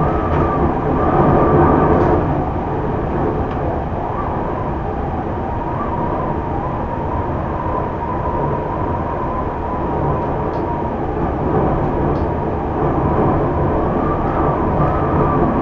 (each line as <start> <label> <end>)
0.0 Windstorm 15.6